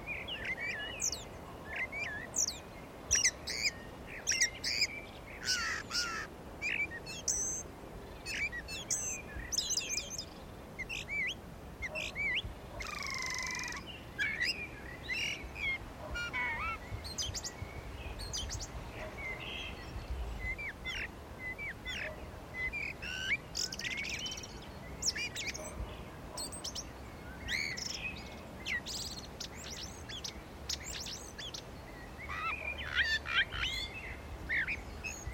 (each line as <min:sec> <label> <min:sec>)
0:00.0 birds singing 0:35.3